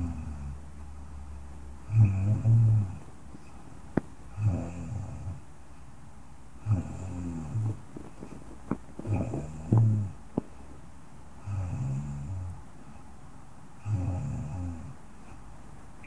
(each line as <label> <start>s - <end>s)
Soft Female Snoring 0.0s - 0.6s
Soft Female Snoring 1.8s - 3.0s
Soft Female Snoring 4.3s - 5.4s
Soft Female Snoring 6.6s - 7.8s
Soft Female Snoring 9.0s - 10.2s
Soft Female Snoring 11.4s - 12.6s
Soft Female Snoring 13.8s - 15.0s